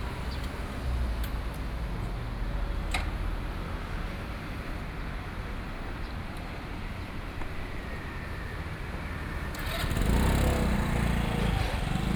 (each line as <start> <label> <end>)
7.6 Traffic Sound 12.1